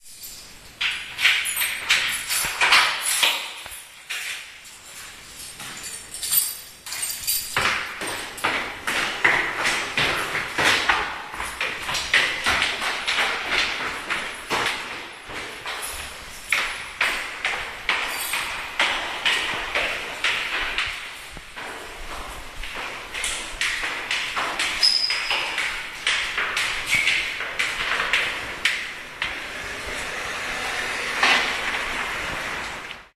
steps 0:00.0 - 0:33.1
closing the door 0:23.2 - 0:33.1

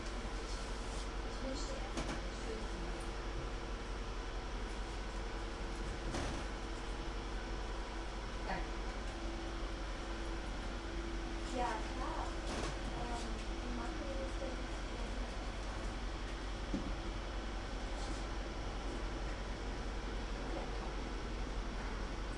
woman boarding a train 0:00.0 - 0:22.3

